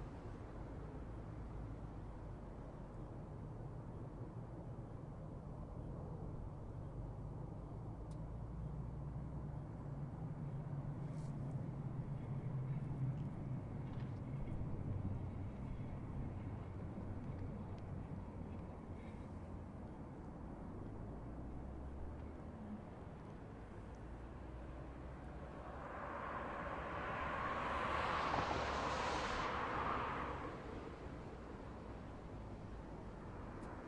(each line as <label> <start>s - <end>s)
cars drive slowly on a wet and snowy street 0.0s - 33.8s